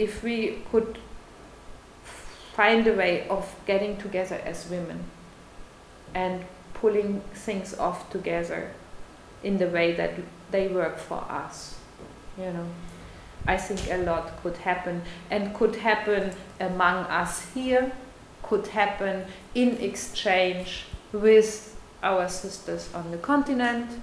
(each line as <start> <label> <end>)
6.2 women’s conversations 8.8
9.4 women’s conversations 24.0